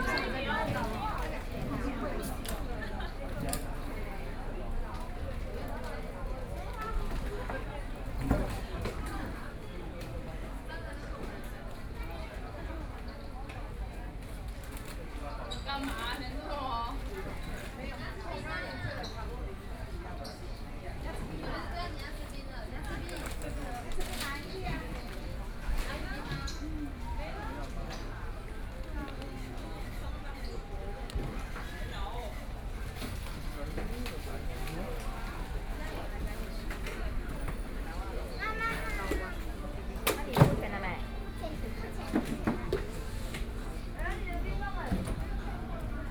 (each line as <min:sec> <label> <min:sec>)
0:00.0 Tourists 0:46.1